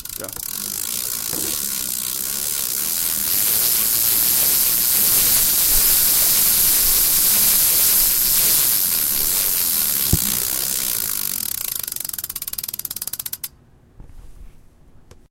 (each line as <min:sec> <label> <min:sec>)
0:00.0 freewheel turning on a bicycle 0:13.5